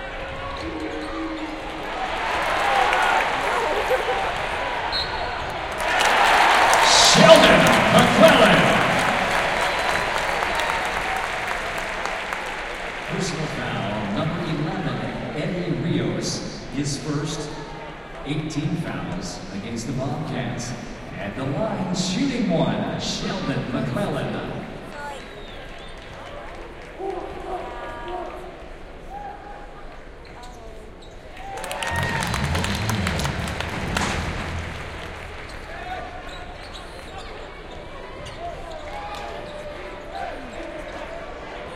0.0s Student basketball games 21.2s
24.4s Student basketball games 41.7s
32.0s bad plays Herbie Hancock 35.6s
32.0s Commercial 35.8s

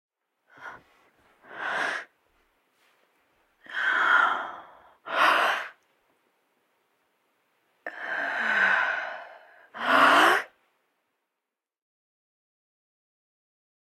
0.4s Woman breathing heavily 2.2s
3.6s Woman breathing heavily 5.8s
7.8s Woman breathing heavily 10.6s

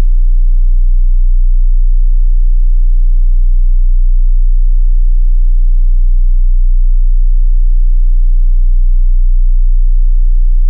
0.0s 30hz sine wave 10.6s

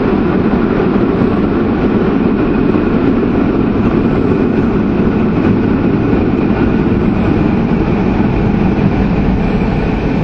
0.0s metro 10.2s

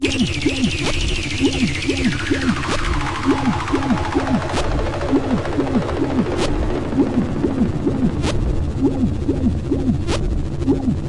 0.0s Pulsating drone 11.0s

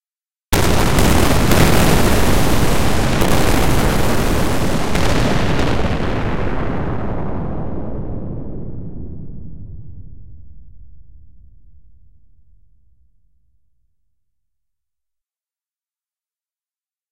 0.6s spaceship explosion3 13.2s
0.6s rumble 14.1s

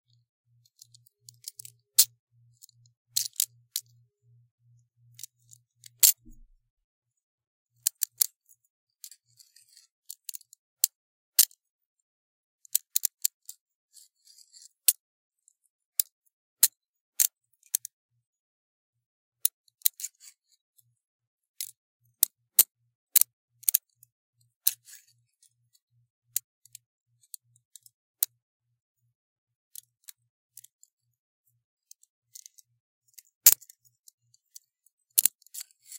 0.5s handcuffs being open, closed, and fiddled with 4.4s
5.0s handcuffs being open, closed, and fiddled with 6.6s
7.8s handcuffs being open, closed, and fiddled with 11.7s
12.6s handcuffs being open, closed, and fiddled with 18.0s
19.4s handcuffs being open, closed, and fiddled with 20.9s
22.6s handcuffs being open, closed, and fiddled with 28.4s
29.7s handcuffs being open, closed, and fiddled with 35.9s

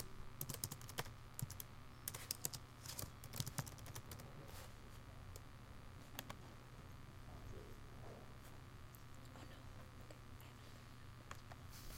0.0s very light typing 4.3s

